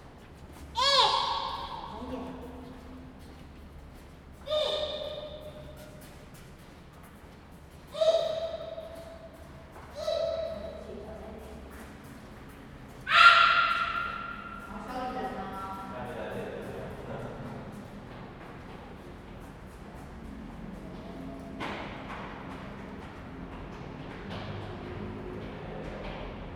0.0s Traffic sound 26.5s
16.8s The train runs through 26.5s

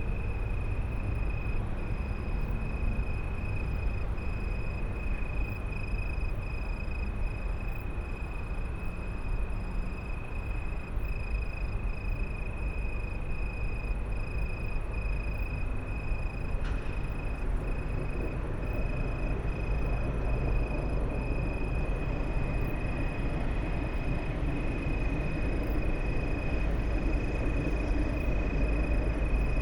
0.0s trains 29.6s
0.0s tree crickets 29.6s

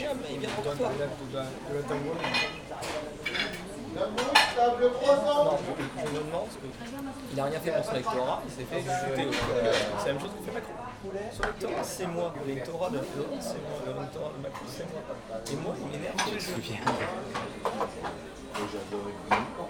0.0s hubbub of the clients 19.6s
0.0s two people talking 19.6s

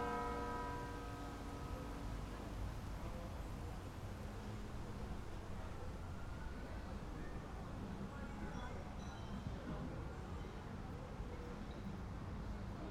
0.0s church bells 1.8s

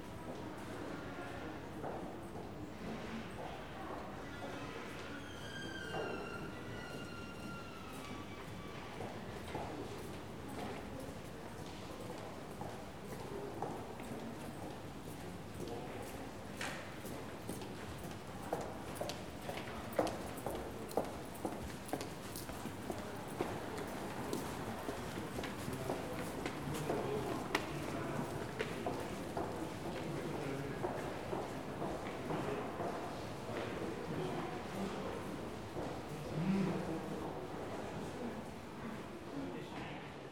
16.7s footsteps crossing the arcade 33.8s

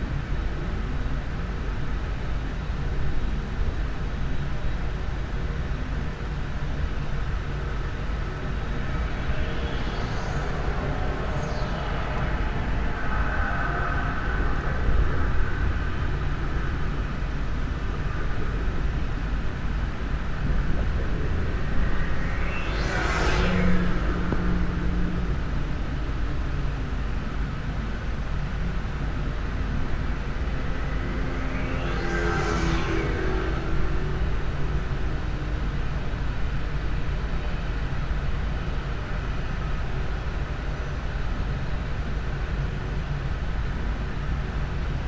0.0s Wind 45.0s
6.5s Whistling sound of Esso refinery 19.8s
20.4s Whistling sound of Esso refinery 27.8s
28.4s Whistling sound of Esso refinery 37.6s

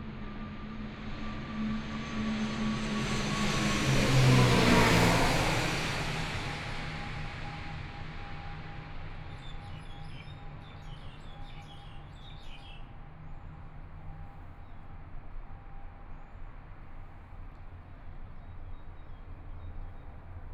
0.4s Aircraft flying through 7.7s
9.3s Birds singing 12.8s

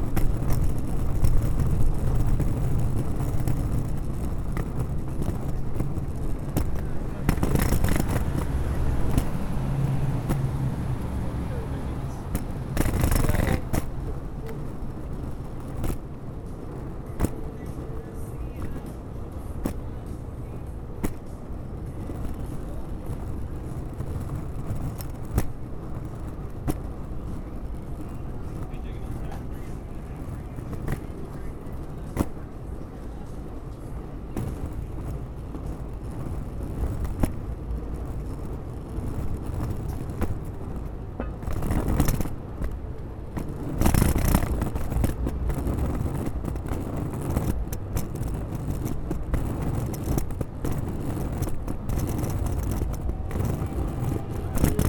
34.4s Luggage Bag Drag 54.8s

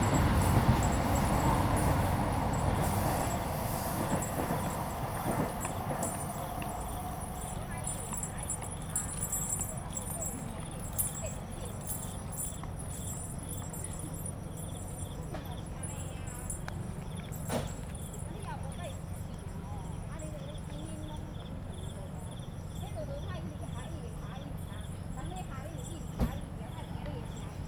0.0s Traffic Sound 19.3s
0.0s MRT trains through 27.6s
0.0s Insect sounds 10.0s

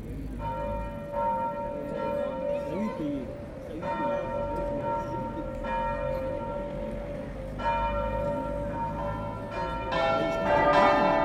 0.0s Cathedral bells 11.2s

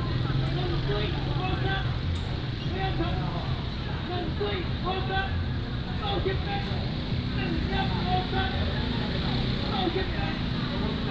0.0s Market vendors selling sound 11.1s

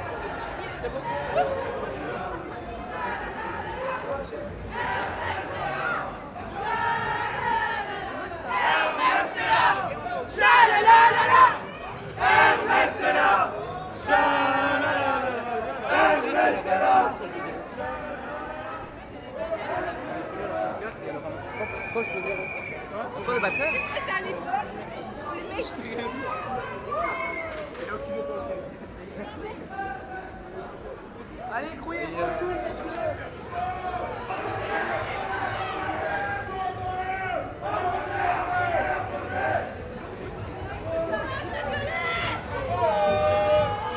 2.8s happy people, shouting 22.4s
25.4s happy people, shouting 28.7s
31.8s happy people, shouting 39.9s
40.7s happy people, shouting 43.9s

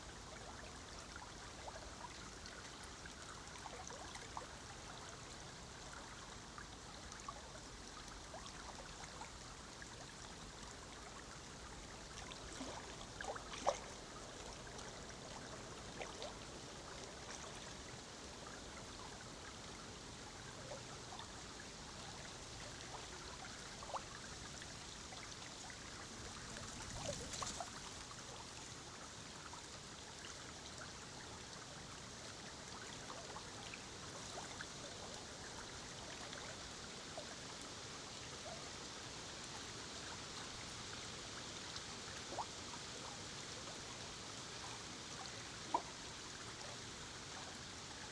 0.0s river 48.1s

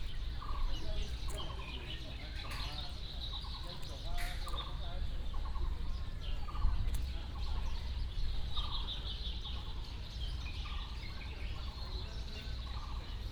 0.0s birds sound 13.3s

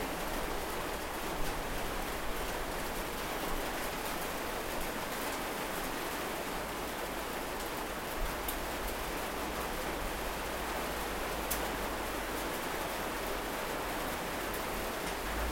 0.0s rain on barn with tin roof 15.5s

